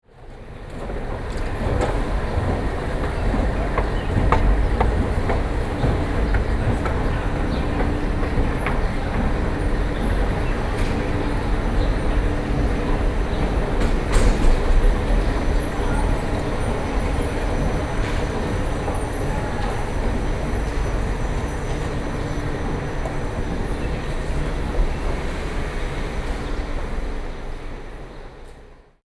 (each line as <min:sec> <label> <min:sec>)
0:00.1 old escalator 0:29.0